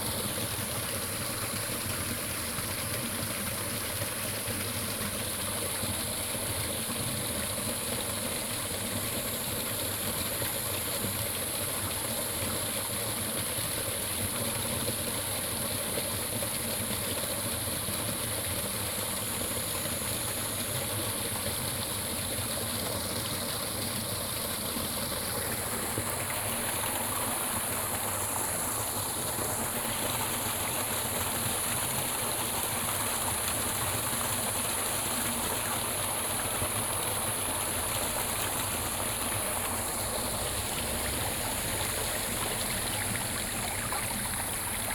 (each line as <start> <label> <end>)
0.0 Stream 44.9
40.3 Frog calls 44.9